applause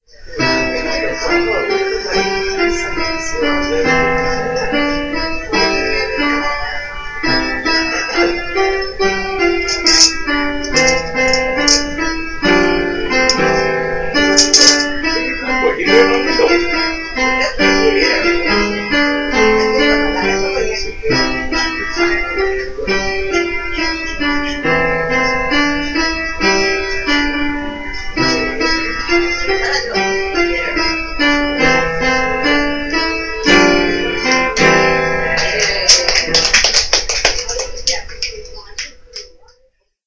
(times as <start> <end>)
35.4 39.3